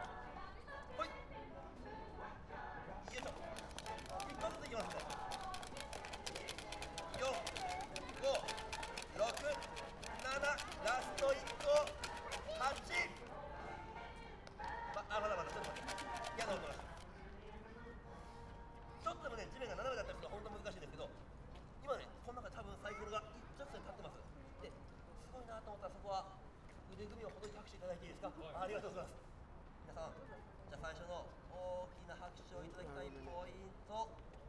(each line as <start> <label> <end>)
0.0 conjurers performing and entertaining kids 17.0